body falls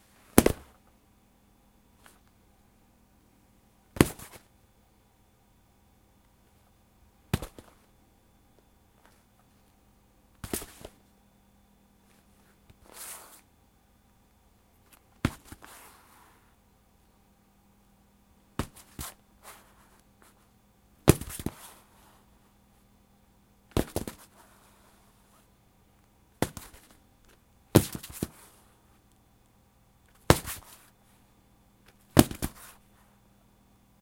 0:00.4 0:00.8

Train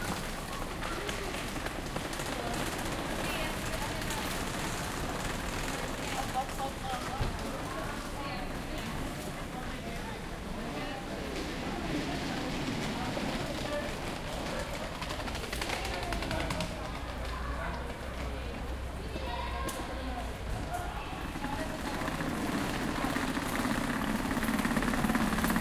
0:10.3 0:15.2, 0:16.2 0:25.6

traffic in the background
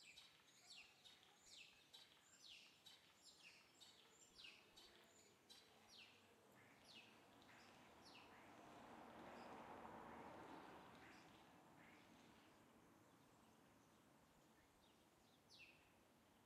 0:04.6 0:16.4

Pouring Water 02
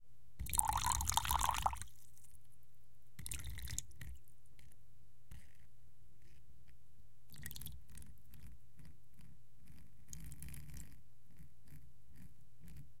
0:00.4 0:02.0, 0:03.2 0:03.9

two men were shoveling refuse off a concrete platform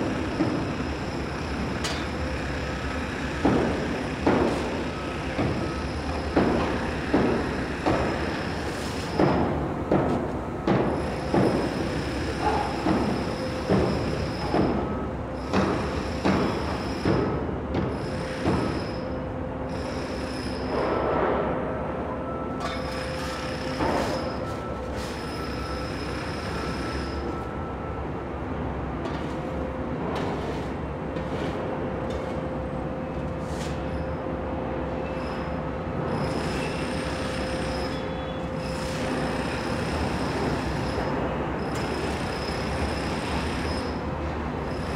0:22.6 0:25.7, 0:30.2 0:32.4

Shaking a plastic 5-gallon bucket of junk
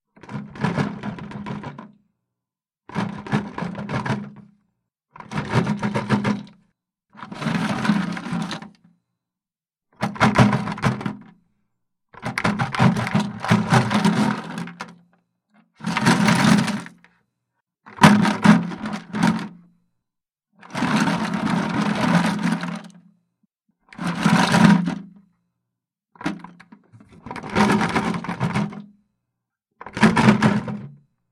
0:00.2 0:02.0, 0:02.9 0:04.5, 0:05.2 0:06.6, 0:07.2 0:08.8, 0:10.0 0:11.3, 0:12.2 0:15.0, 0:15.8 0:17.0, 0:17.9 0:19.6, 0:20.6 0:22.9, 0:24.0 0:25.1, 0:26.2 0:28.9, 0:29.8 0:31.0

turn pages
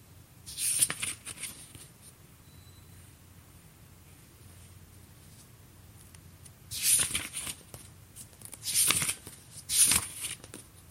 0:00.5 0:02.1, 0:06.4 0:10.9

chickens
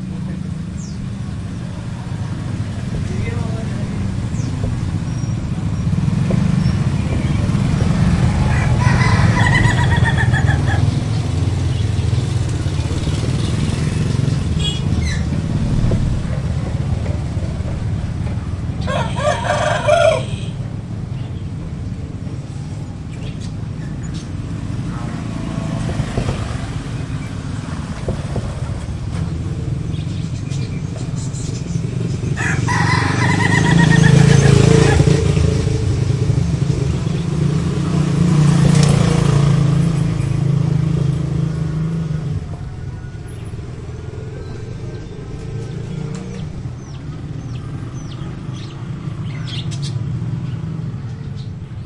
0:08.3 0:11.0

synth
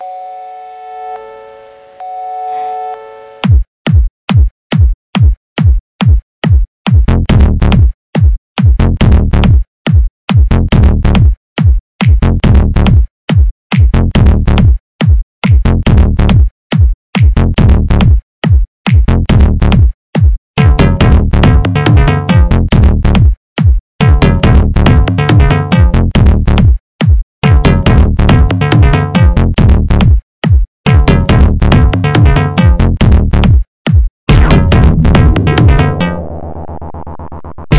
0:34.3 0:37.7

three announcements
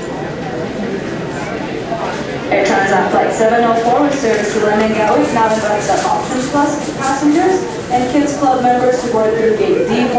0:02.4 0:10.1

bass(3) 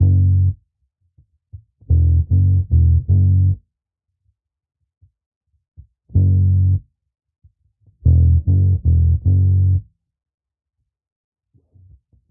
0:00.0 0:00.6, 0:01.8 0:03.6, 0:06.1 0:06.8, 0:08.0 0:09.9

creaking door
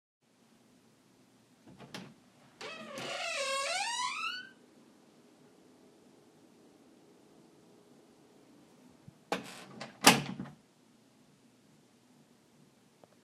0:01.7 0:04.6, 0:09.3 0:10.4

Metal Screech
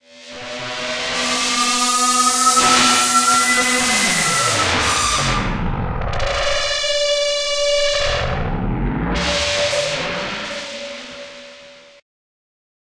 0:01.0 0:07.0

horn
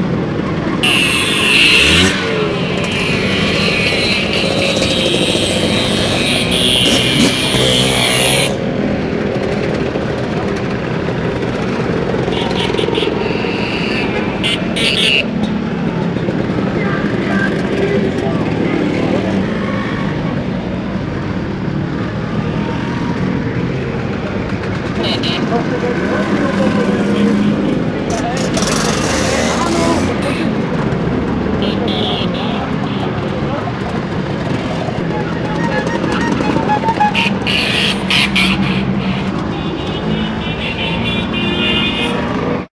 0:00.8 0:08.6

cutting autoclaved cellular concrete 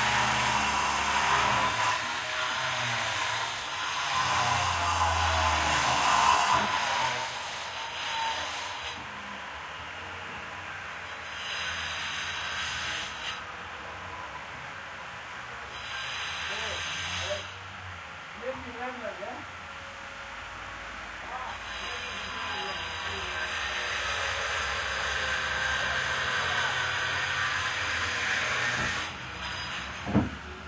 0:21.4 0:29.2

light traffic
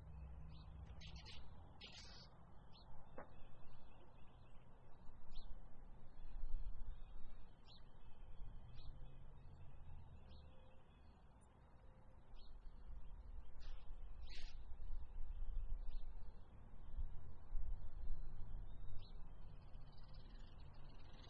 0:00.0 0:15.0

